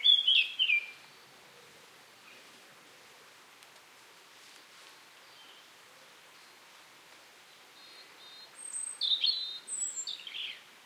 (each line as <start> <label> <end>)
0.0 birdsong 2.5
1.8 small drops of rain are hitting the ground 7.5
7.4 birdsong 10.7